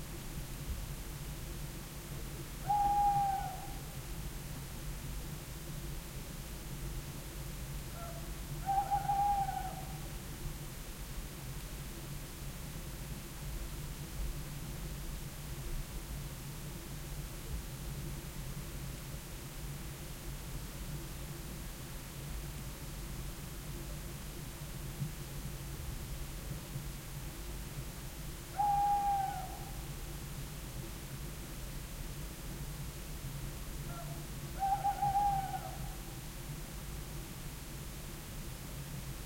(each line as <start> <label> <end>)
2.6 owl 4.0
7.9 owl 10.1
28.5 owl 29.9
33.8 owl 36.2